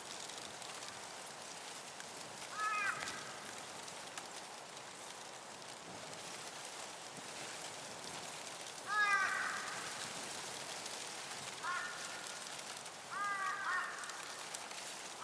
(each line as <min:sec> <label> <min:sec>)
0:00.0 Wind in the Reeds 0:15.2
0:02.4 Crows in the Sky 0:04.0
0:08.8 Crows in the Sky 0:15.2